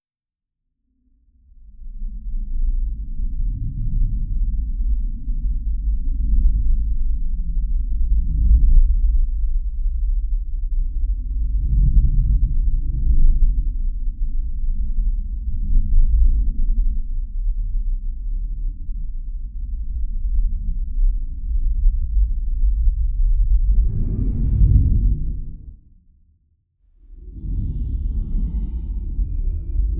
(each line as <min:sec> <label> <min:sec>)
0:00.9 bass 0:26.1
0:27.0 bass 0:29.9